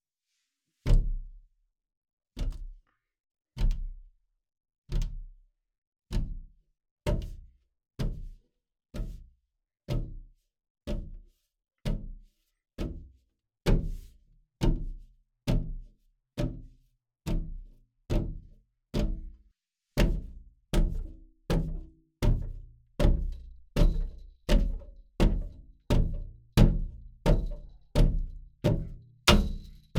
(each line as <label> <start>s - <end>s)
Banging against window 29.3s - 29.9s